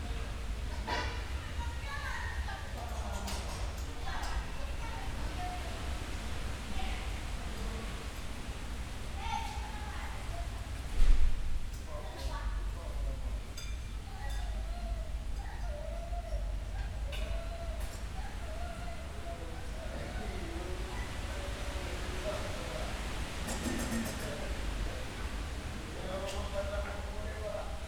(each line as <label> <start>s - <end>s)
domestic sounds from open windows 13.1s - 26.0s